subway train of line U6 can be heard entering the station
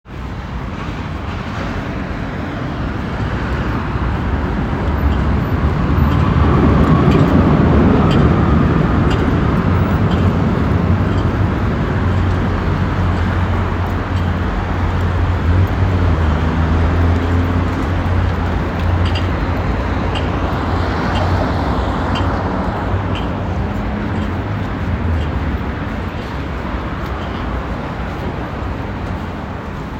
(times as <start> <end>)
0.1 12.0